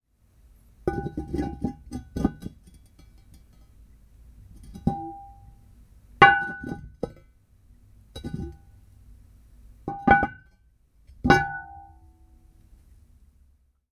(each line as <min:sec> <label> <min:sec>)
0:00.9 Placing and removing a large ceramic lid on a ceramic pot 0:03.8
0:04.4 Placing and removing a large ceramic lid on a ceramic pot 0:05.6
0:06.2 Placing and removing a large ceramic lid on a ceramic pot 0:07.3
0:08.1 Placing and removing a large ceramic lid on a ceramic pot 0:08.8
0:09.9 Placing and removing a large ceramic lid on a ceramic pot 0:12.0